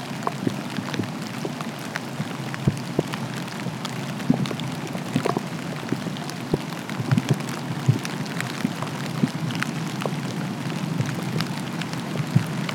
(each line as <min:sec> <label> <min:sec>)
0:00.0 Drizzle rain 0:12.7
0:00.0 recorder housing getting hit by raindrops 0:12.7